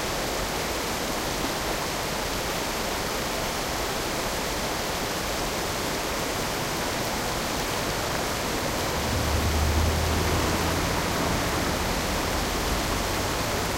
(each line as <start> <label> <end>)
0.0 Small Waterfall 13.7